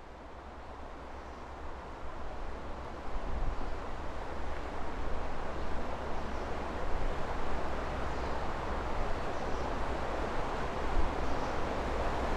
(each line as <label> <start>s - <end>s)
river 0.0s - 12.3s